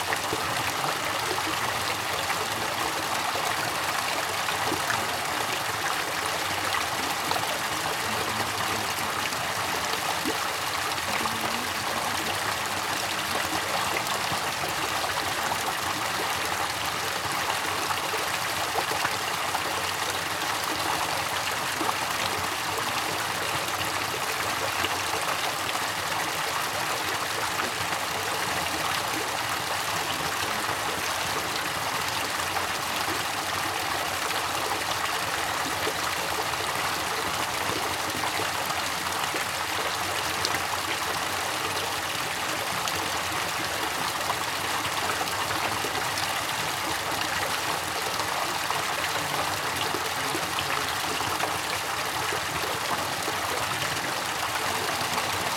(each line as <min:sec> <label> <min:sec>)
0:00.0 water 0:55.5
0:00.1 people talking nearby 0:55.5